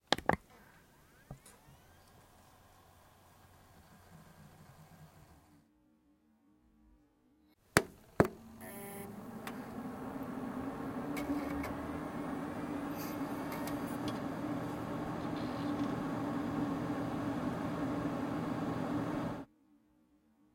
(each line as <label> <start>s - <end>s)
heating 7.8s - 19.5s